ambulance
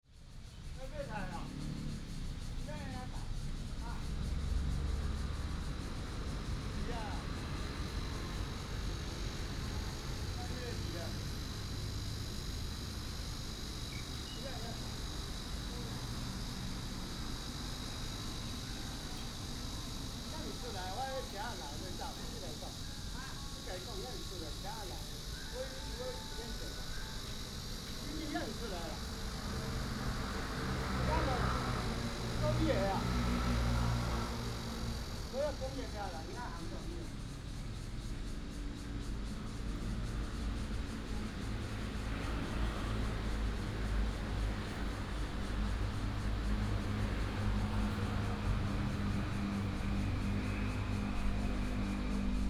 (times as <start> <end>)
25.0 29.5